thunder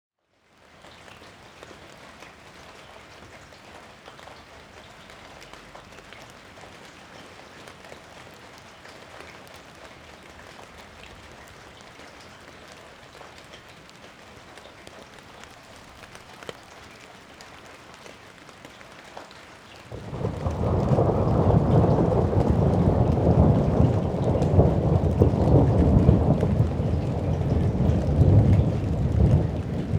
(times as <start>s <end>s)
19.9s 29.9s